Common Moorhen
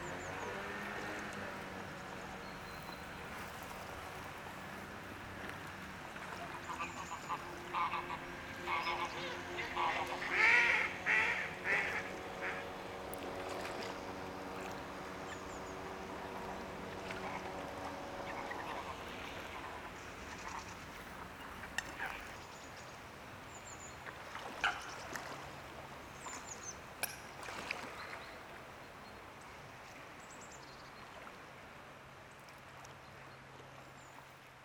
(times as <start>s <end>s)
2.0s 5.0s, 6.1s 12.6s, 18.3s 29.2s